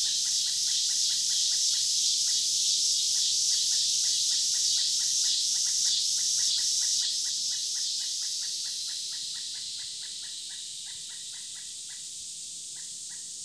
excited Pileated woodpecker 0.0 - 13.4
typical summer cicadas 0.0 - 13.4

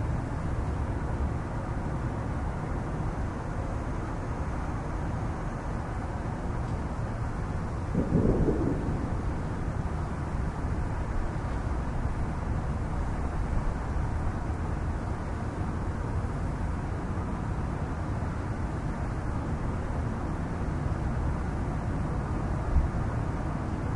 distant fireworks 7.9 - 10.5

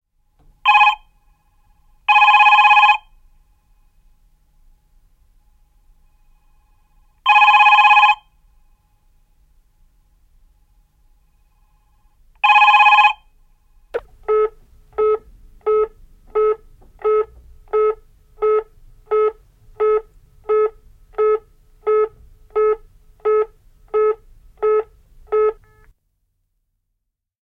A landline digital telephone rings 0.7 - 1.1
A landline digital telephone rings 2.1 - 3.1
A landline digital telephone rings 7.3 - 8.3
A landline digital telephone rings 12.4 - 13.3

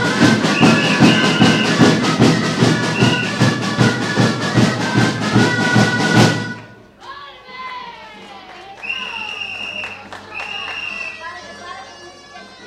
several bands playing catalan folklore music 0.0 - 7.0

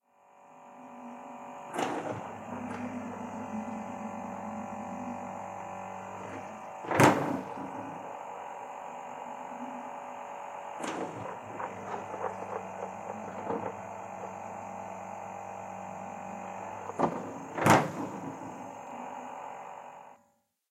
old and noisy fridge 0.0 - 20.4

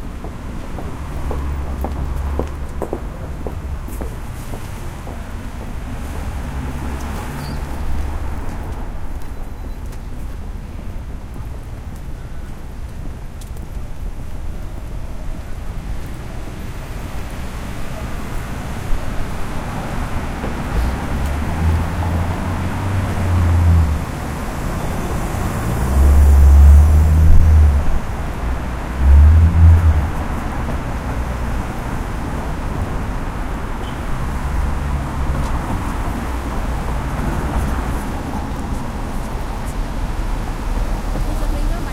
pedestrians 0.0 - 41.9
traffic 0.0 - 41.9

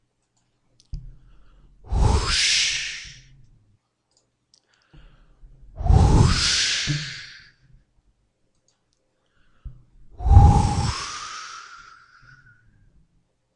Swoosh going from top to bottom 5.8 - 7.4

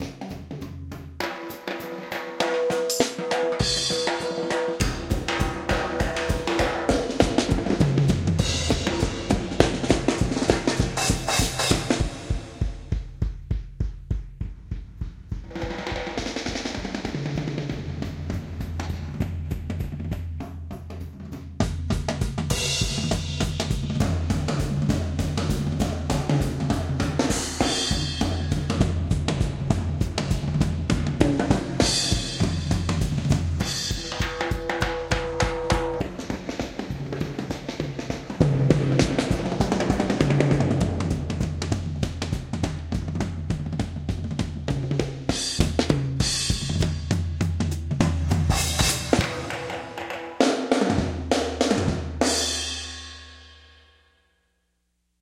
Drums 0.0 - 54.1

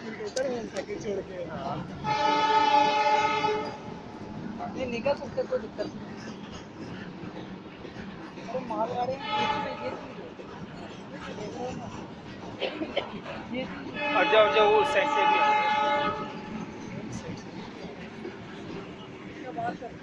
crowd 0.0 - 20.0
train 0.0 - 20.0

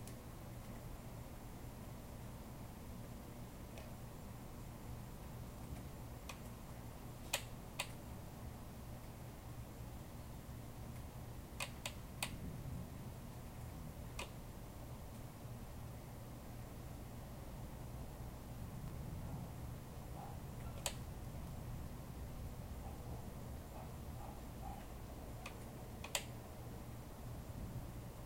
thunder 12.4 - 13.0

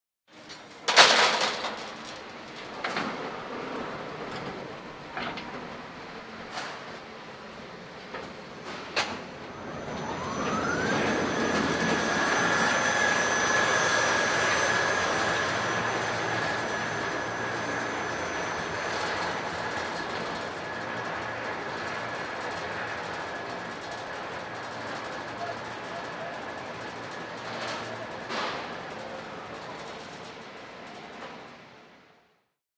industrial lift on a building site 0.3 - 32.5

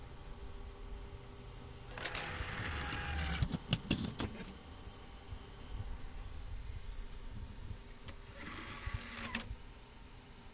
interacting with my CDROM drive 1.9 - 4.6
interacting with my CDROM drive 8.0 - 9.6

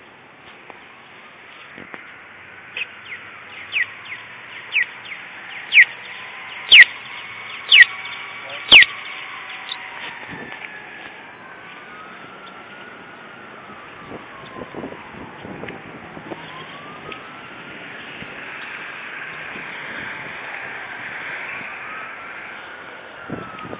distant city traffic 0.0 - 23.7
crosswalk traffic light beeping 1.6 - 10.0
siren from a fire-engine 2.9 - 23.7

